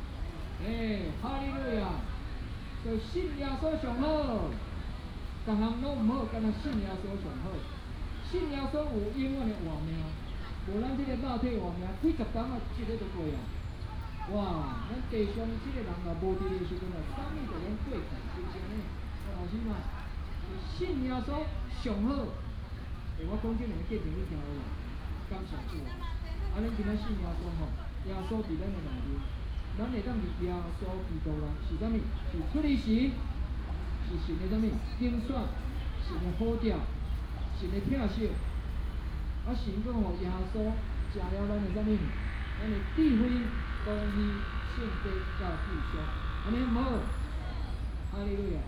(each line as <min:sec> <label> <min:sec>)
0:00.0 Traffic sound 0:48.6
0:07.5 Bird sound 0:21.5
0:26.6 Bird sound 0:48.6